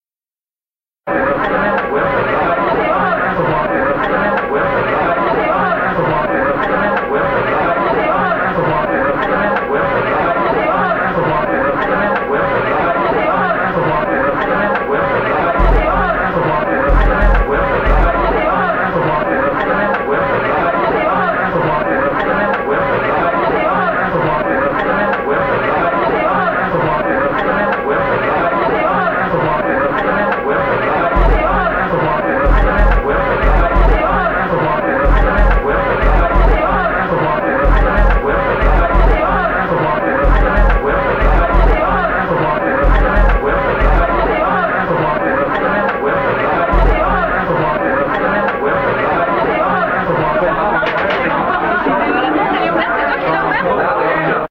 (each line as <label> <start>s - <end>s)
Beatin' chords 15.5s - 19.1s
Beatin' chords 30.9s - 45.3s
Beatin' chords 46.4s - 49.6s